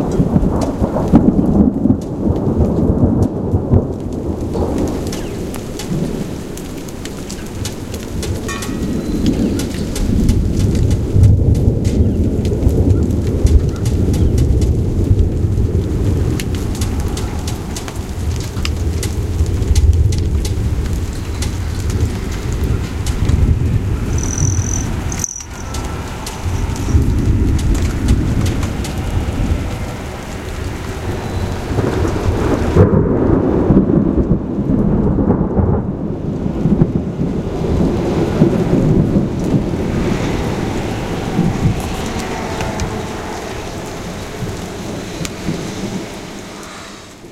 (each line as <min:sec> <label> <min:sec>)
0:00.0 thunder 0:47.3
0:08.4 Hummingbirds 0:10.1
0:23.9 Hummingbirds 0:31.8